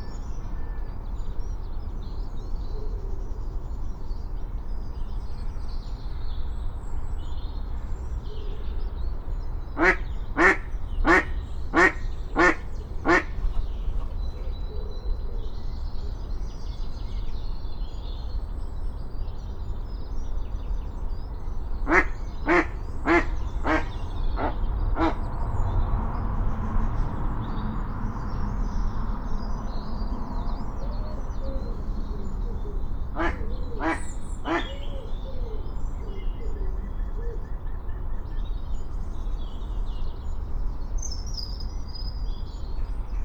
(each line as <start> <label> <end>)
9.8 Airedale two houses away barks 14.6
9.8 Mallard argue 13.3
21.7 planes 34.8
21.8 Airedale two houses away barks 27.0
21.8 motorbikes 34.7
21.9 Mallard argue 25.2
22.6 cars 34.4
31.0 Airedale two houses away barks 35.0
33.2 Mallard argue 34.7